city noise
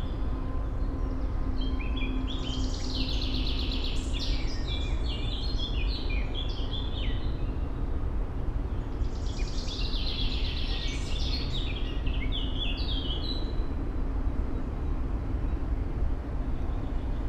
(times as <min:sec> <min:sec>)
0:06.4 0:11.8, 0:13.6 0:17.2